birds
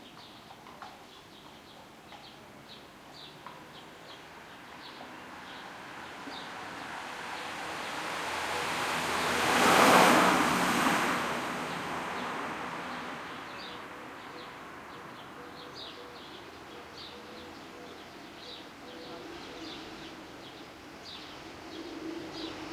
0:11.7 0:22.7

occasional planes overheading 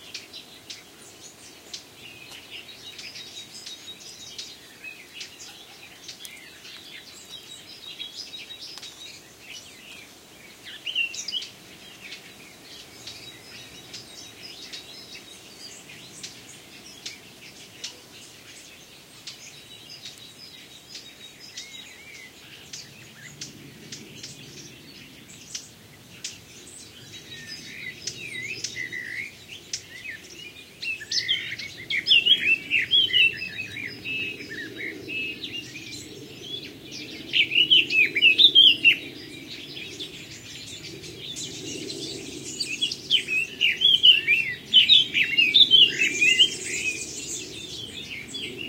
0:22.6 0:30.8, 0:31.5 0:48.6

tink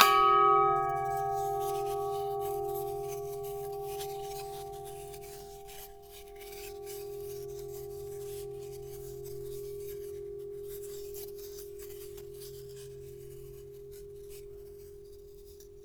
0:00.0 0:07.4

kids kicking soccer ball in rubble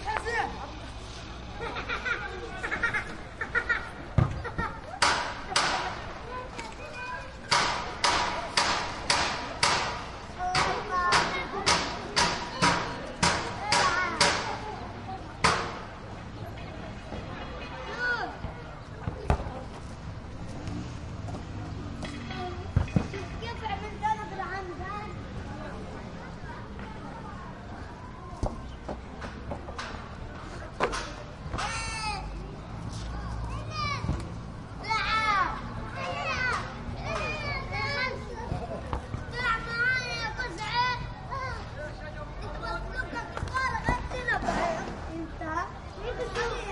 0:04.1 0:14.6, 0:18.4 0:19.9, 0:43.1 0:45.1

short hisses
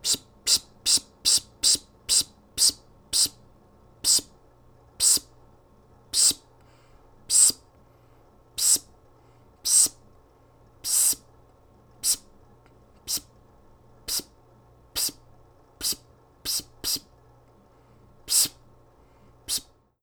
0:07.3 0:07.6, 0:08.6 0:08.8, 0:10.9 0:11.2, 0:15.0 0:15.2, 0:18.3 0:18.6, 0:19.5 0:19.7

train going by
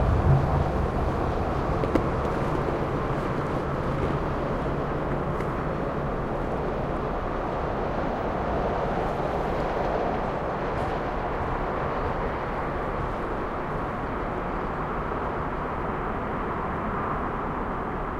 0:00.0 0:05.0

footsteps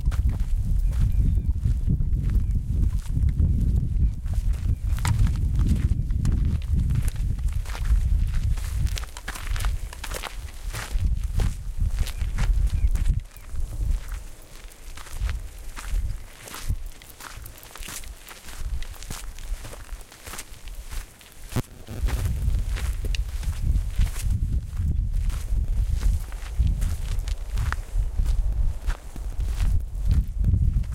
0:13.1 0:30.9

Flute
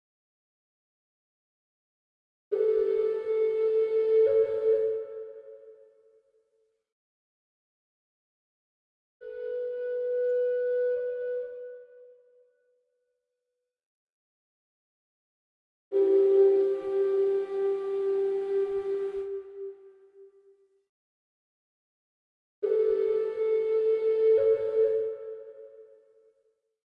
0:02.5 0:06.2, 0:09.2 0:12.8, 0:15.9 0:20.6, 0:22.6 0:26.3

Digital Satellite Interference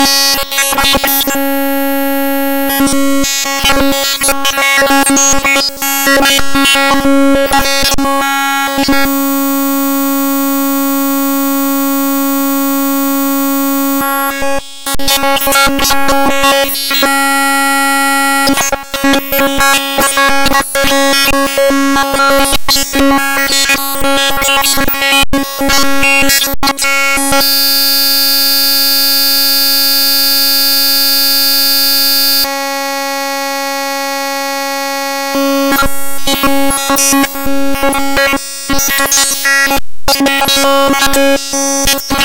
0:27.3 0:32.5

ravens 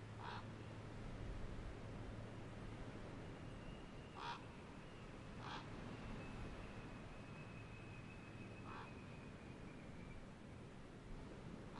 0:00.2 0:00.5, 0:04.1 0:04.5, 0:05.4 0:05.8, 0:08.6 0:09.0

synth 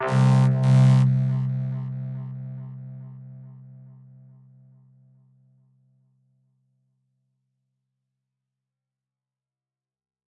0:00.0 0:03.8

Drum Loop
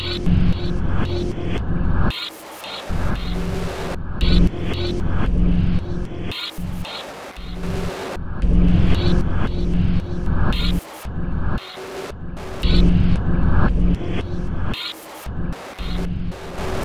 0:10.5 0:10.9

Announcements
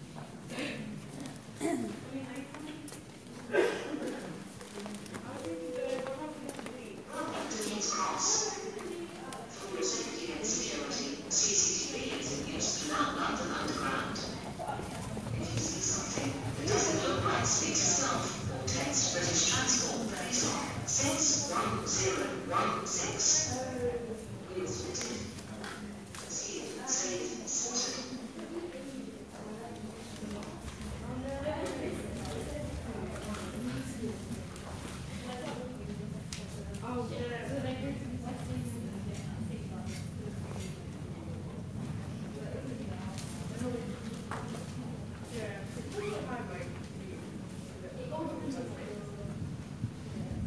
0:07.2 0:25.5, 0:26.1 0:28.4

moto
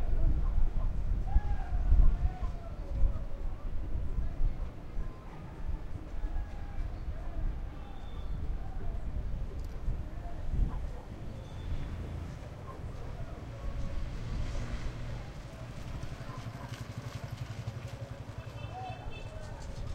0:11.5 0:19.9

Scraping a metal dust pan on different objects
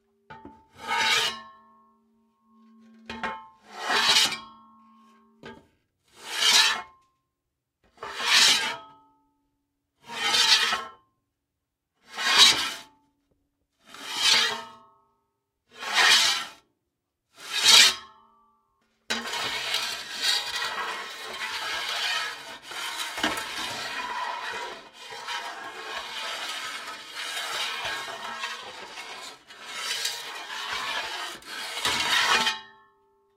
0:19.1 0:32.6

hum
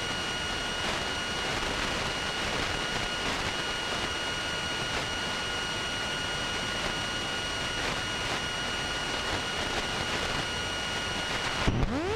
0:07.6 0:12.1

